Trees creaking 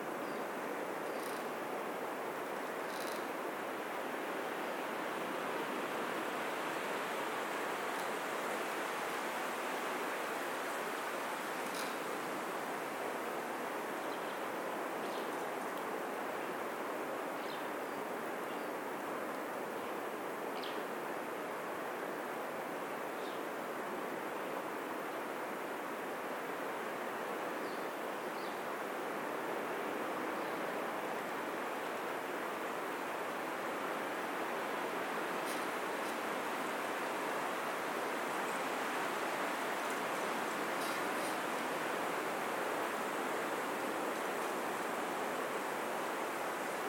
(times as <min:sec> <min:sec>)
0:01.0 0:01.5, 0:02.6 0:03.4, 0:11.5 0:12.2, 0:37.8 0:45.0